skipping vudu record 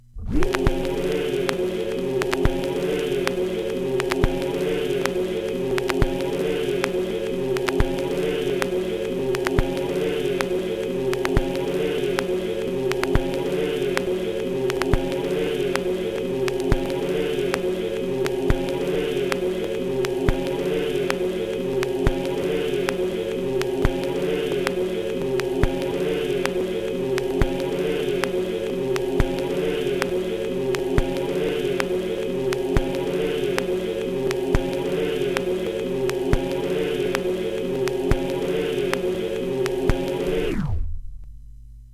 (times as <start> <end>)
0.2 2.6